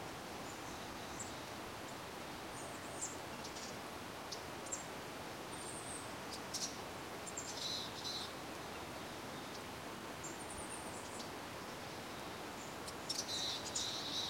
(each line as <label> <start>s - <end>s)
birdsong 5.5s - 14.2s